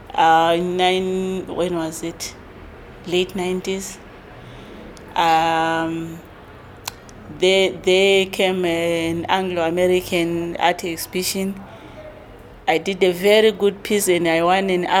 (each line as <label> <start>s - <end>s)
Nonnie talks 0.1s - 2.4s
Nonnie talks 3.0s - 4.0s
Nonnie talks 5.1s - 6.3s
Nonnie talks 6.9s - 11.9s
Nonnie talks 12.6s - 15.0s